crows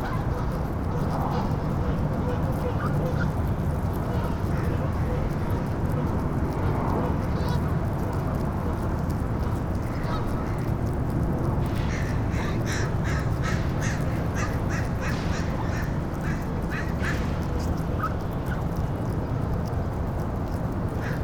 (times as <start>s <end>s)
11.7s 18.6s, 21.0s 21.2s